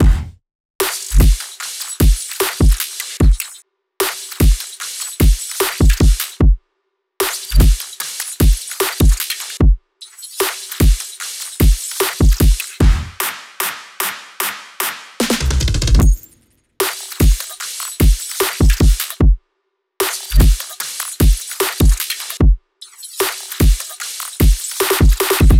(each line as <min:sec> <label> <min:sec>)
0:00.0 Drum loop 0:06.3
0:07.2 Drum loop 0:09.4
0:10.4 Drum loop 0:16.2
0:16.8 Drum loop 0:19.4
0:20.0 Drum loop 0:22.2
0:23.2 Drum loop 0:25.5